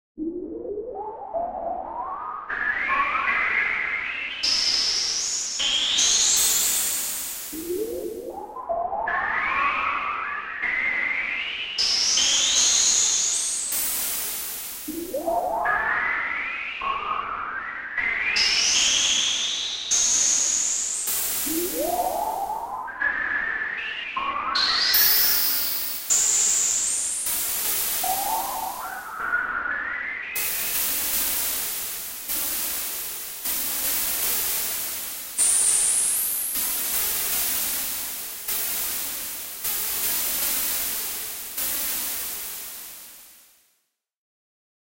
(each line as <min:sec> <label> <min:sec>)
0:00.2 synth 0:04.8
0:06.4 synth 0:11.3
0:13.7 synth 0:18.3
0:20.5 synth 0:35.2